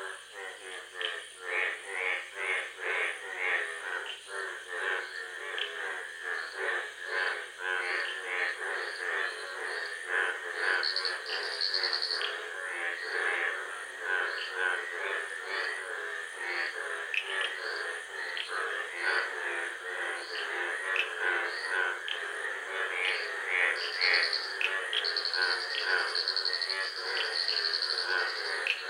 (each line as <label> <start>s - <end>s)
vocal intensities of species 10.6s - 13.0s
vocal intensities of species 22.9s - 28.8s